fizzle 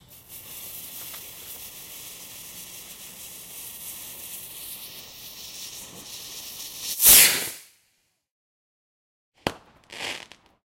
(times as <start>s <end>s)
0.0s 7.7s